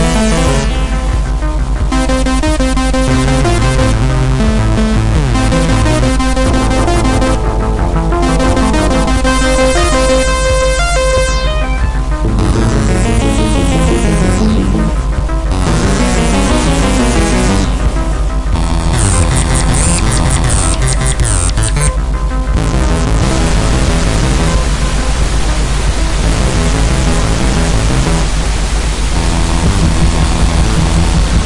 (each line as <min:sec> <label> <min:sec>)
0:00.0 melodic elements 0:24.8